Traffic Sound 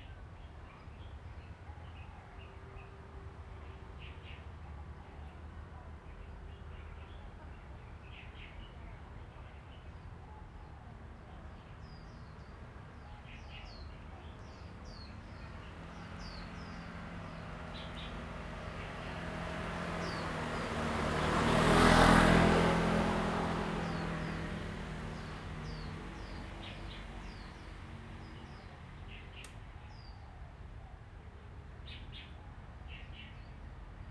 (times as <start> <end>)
14.2 29.8